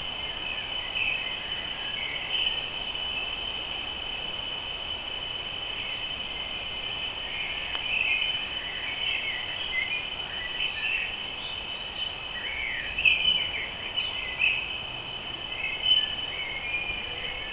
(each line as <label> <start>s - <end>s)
river 0.0s - 17.5s